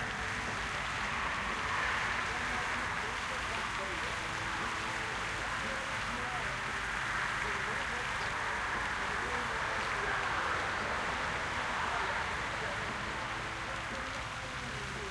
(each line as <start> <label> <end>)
0.0 pond with birds 15.1